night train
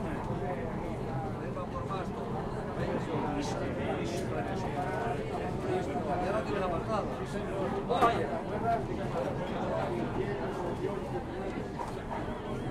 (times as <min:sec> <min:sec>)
0:10.0 0:12.7